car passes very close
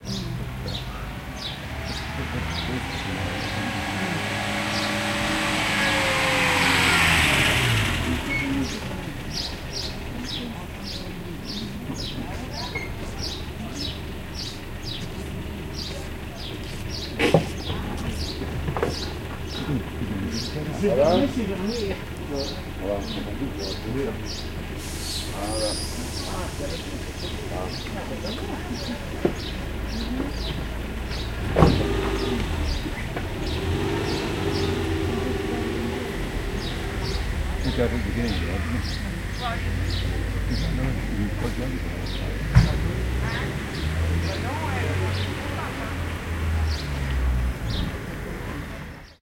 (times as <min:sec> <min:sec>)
0:00.8 0:10.4, 0:31.1 0:48.9